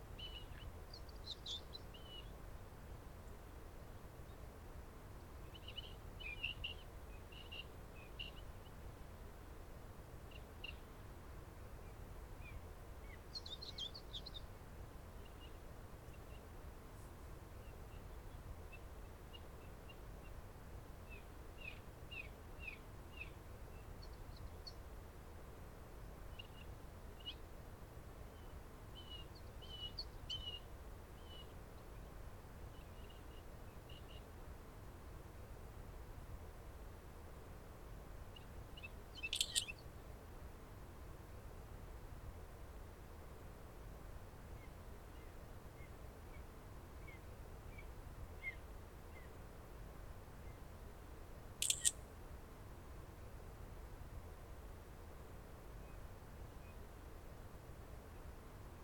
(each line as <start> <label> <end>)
5.4 blackbirds 8.8
38.3 Nightingale 39.9
38.3 blackbirds 39.9
51.6 Nightingale 52.2
51.6 blackbirds 52.0